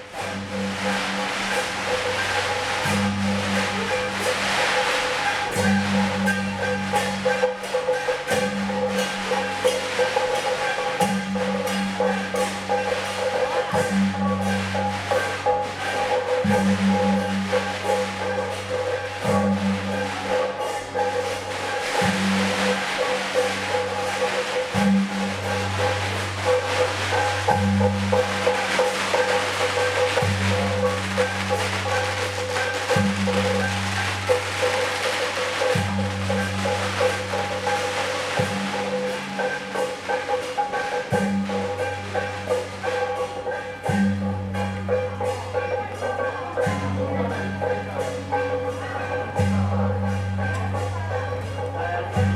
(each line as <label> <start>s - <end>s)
firecrackers 0.0s - 52.3s
fireworks 19.0s - 41.8s